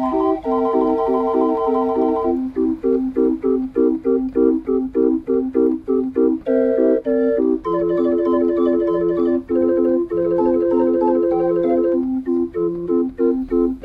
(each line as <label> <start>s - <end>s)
organ 0.0s - 13.8s